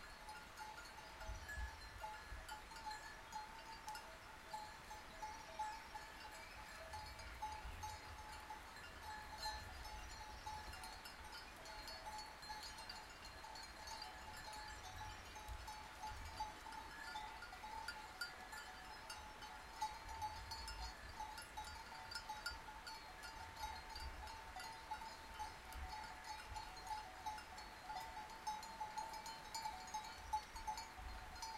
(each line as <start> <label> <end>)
0.0 bells of the sheep 31.5
0.0 nearby river 31.5
0.0 singing of the birds 31.5